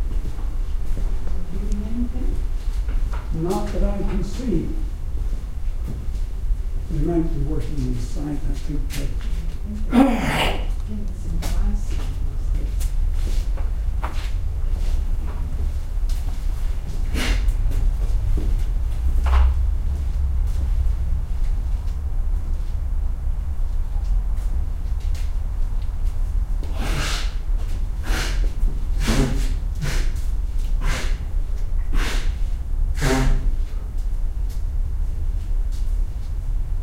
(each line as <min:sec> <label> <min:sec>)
0:09.9 Old Man Sneeze 0:10.8
0:29.0 Old Man Sneeze 0:30.1
0:33.0 Old Man Sneeze 0:33.5